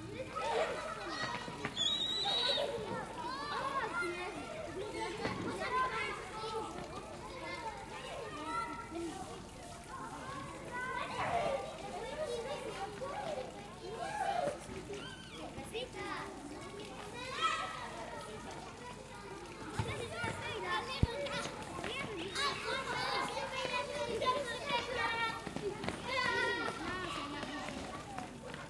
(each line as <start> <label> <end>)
0.0 children playing 28.6
0.4 shouting 3.5